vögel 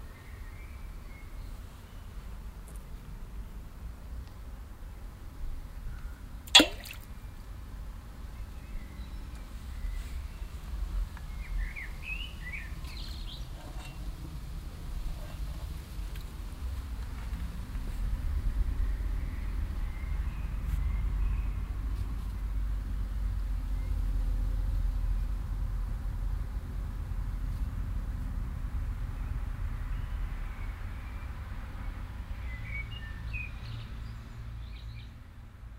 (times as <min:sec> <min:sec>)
0:06.5 0:07.1